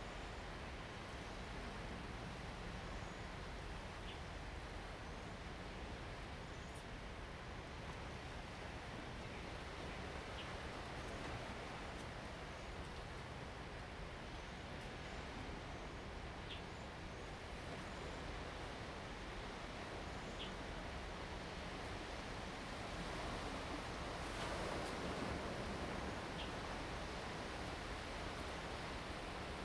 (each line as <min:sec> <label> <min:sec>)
0:07.9 waves 0:14.2
0:17.0 waves 0:29.6